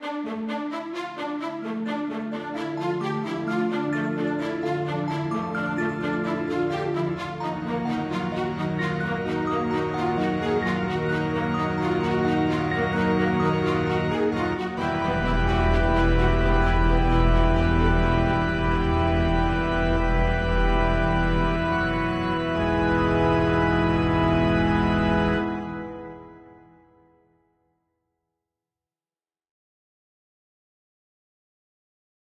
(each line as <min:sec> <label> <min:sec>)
0:00.0 string 0:26.7
0:00.0 synthesizer 0:27.3
0:03.8 organ 0:26.9